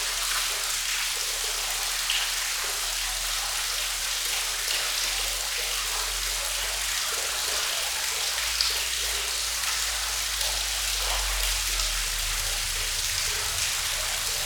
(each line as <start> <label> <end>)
0.0 Stream 14.4
0.0 waterfall 14.4